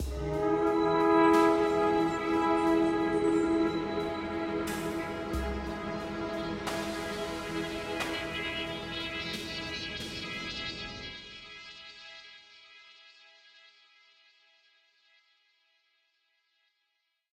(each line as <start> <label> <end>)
0.0 synthesizer 14.4